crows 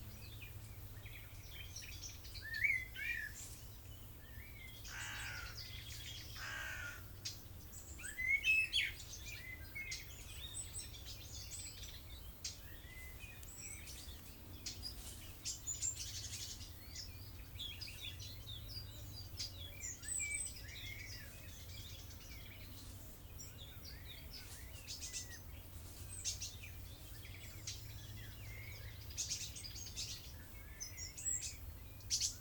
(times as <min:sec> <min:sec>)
0:04.8 0:07.1